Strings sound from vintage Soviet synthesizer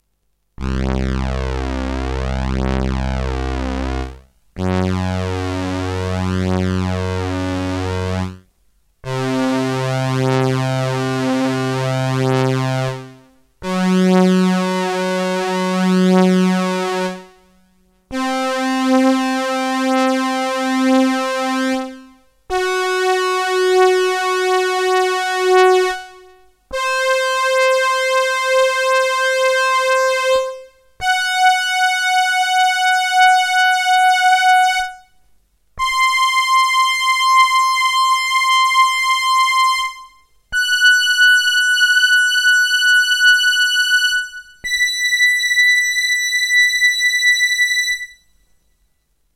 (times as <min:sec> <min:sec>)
0:00.6 0:08.4, 0:09.0 0:17.4, 0:18.1 0:35.0